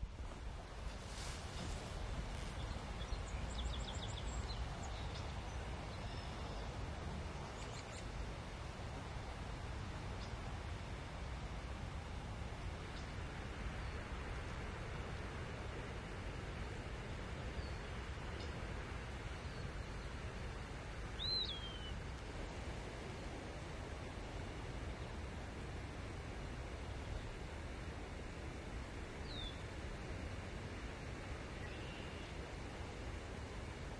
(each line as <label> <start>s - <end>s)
wind 0.0s - 33.9s
birds 1.4s - 8.3s
birds 15.8s - 22.3s